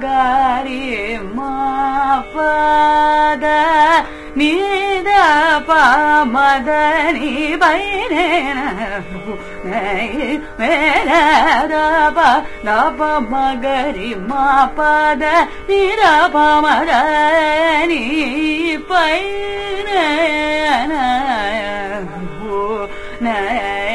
young Carnatic vocalist 0:00.0 - 0:23.9

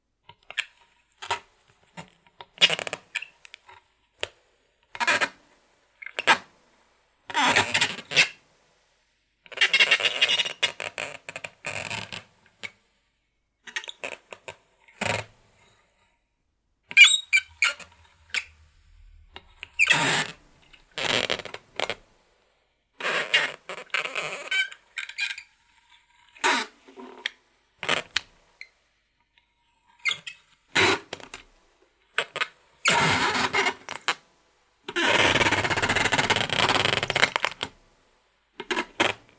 squeaking and creaking 0:16.9 - 0:22.0

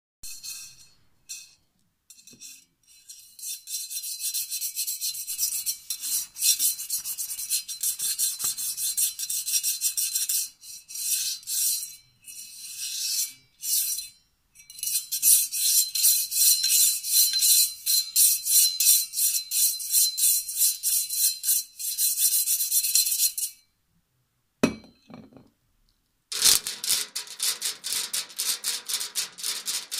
metal objects being scraped and rubbed together 0:00.2 - 0:23.6

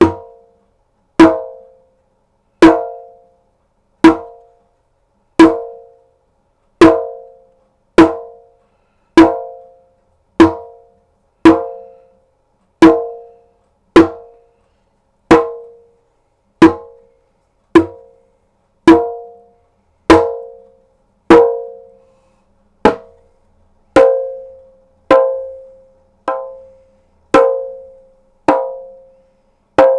djembe hits 0:00.0 - 0:00.4
djembe hits 0:01.2 - 0:01.7
djembe hits 0:02.6 - 0:03.1
djembe hits 0:04.0 - 0:04.4
djembe hits 0:05.4 - 0:05.8
djembe hits 0:06.8 - 0:07.4
djembe hits 0:08.0 - 0:08.4
djembe hits 0:09.2 - 0:09.6
djembe hits 0:10.4 - 0:10.8
djembe hits 0:11.4 - 0:12.0
djembe hits 0:12.8 - 0:13.3
djembe hits 0:14.0 - 0:14.4
djembe hits 0:15.3 - 0:15.8
djembe hits 0:16.6 - 0:17.0
djembe hits 0:17.8 - 0:18.1
djembe hits 0:18.9 - 0:19.4
djembe hits 0:20.1 - 0:20.6
djembe hits 0:21.3 - 0:21.9
djembe hits 0:22.9 - 0:23.2
djembe hits 0:24.0 - 0:26.7
djembe hits 0:27.3 - 0:29.0
djembe hits 0:29.8 - 0:29.9

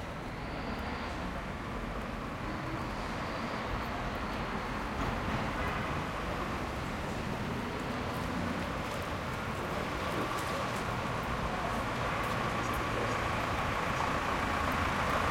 l train 0:00.0 - 0:15.3
walking to the subway 0:00.0 - 0:15.3

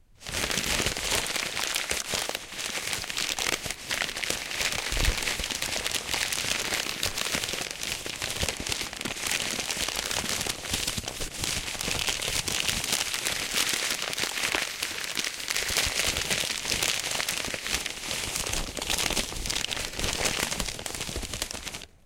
rustle.paper 0:00.2 - 0:21.9
cruble 0:00.5 - 0:10.7

